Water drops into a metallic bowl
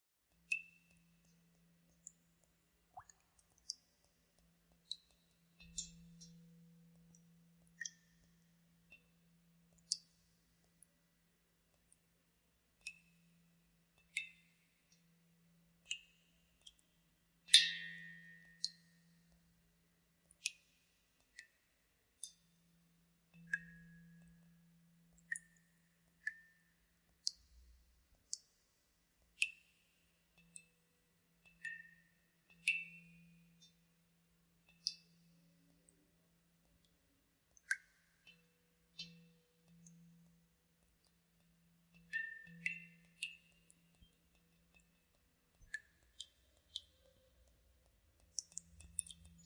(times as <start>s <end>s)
2.9s 3.8s, 17.5s 18.8s, 23.4s 24.4s, 25.2s 25.6s